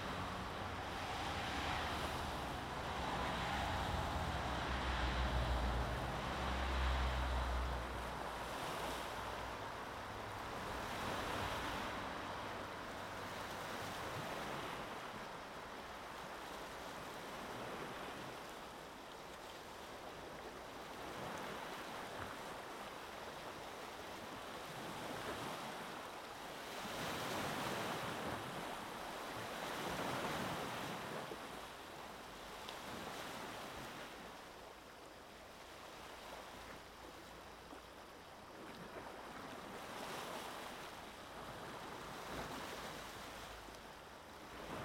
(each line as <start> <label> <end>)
0.0 Traffic 13.4
0.0 Waves 44.8